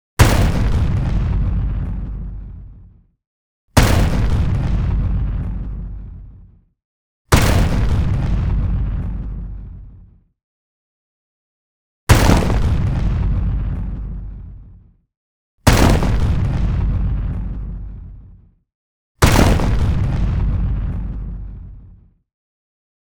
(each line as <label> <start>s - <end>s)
heavy explosive crunchy impact 0.2s - 2.7s
heavy explosive crunchy impact 3.8s - 6.5s
heavy explosive crunchy impact 7.3s - 9.9s
heavy explosive crunchy impact 12.1s - 14.7s
heavy explosive crunchy impact 15.7s - 18.2s
heavy explosive crunchy impact 19.2s - 21.9s